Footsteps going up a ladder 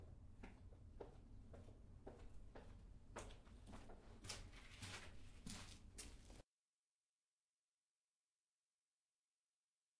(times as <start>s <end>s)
0.0s 6.4s